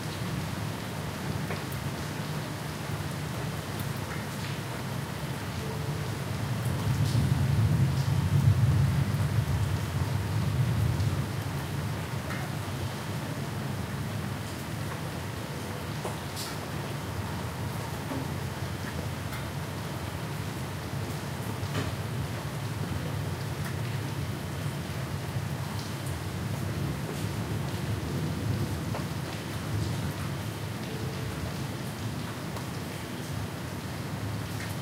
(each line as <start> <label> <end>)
0.0 Rain 34.8
6.8 Thunder 11.3